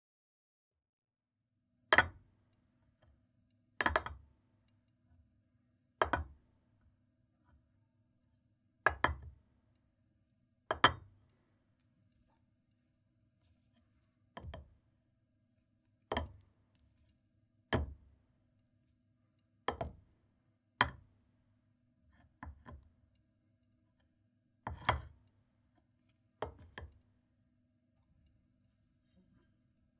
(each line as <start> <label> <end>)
10.7 putting a ceramic bowl on a wooden plank 11.0